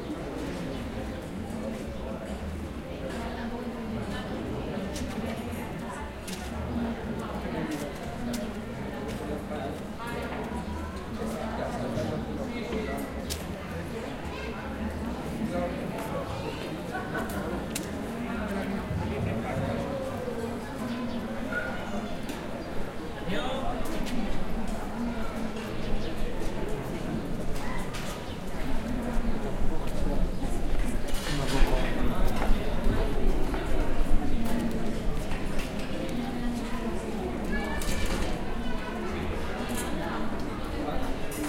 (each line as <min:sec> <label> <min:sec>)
0:00.0 People in the terrace of a bar talking 0:41.4
0:04.5 People walking 0:11.5
0:23.6 People walking 0:41.4